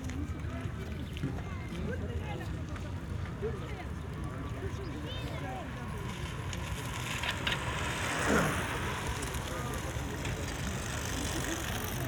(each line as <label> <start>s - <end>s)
pedestrians 0.0s - 12.0s
bikers 3.2s - 12.0s